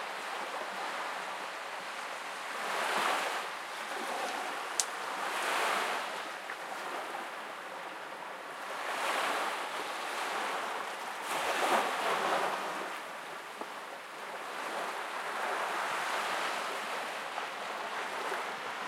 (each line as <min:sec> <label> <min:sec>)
0:00.0 Calm waves 0:18.8
0:00.0 people walking along the shore 0:18.8